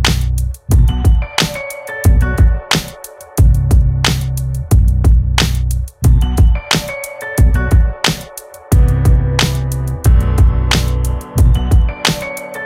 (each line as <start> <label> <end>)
0.0 bass 1.4
0.0 drum 12.4
0.0 piano 12.6
2.1 bass 2.6
3.4 bass 6.6
7.4 bass 8.0
8.7 bass 12.3